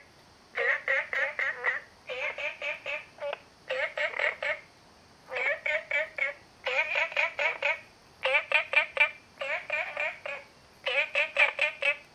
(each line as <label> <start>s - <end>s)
Frogs sound 0.0s - 12.1s